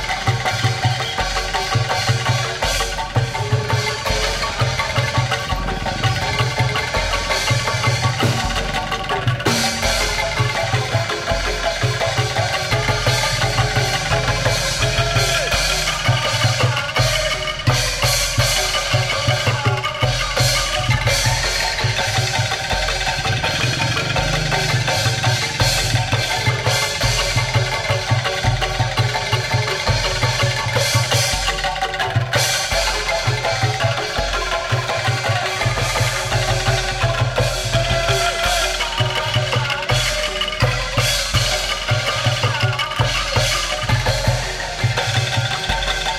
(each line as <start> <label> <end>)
0.0 kendang 46.1
0.0 metallophone 46.1
0.0 xylophone 46.1
1.7 gong 29.0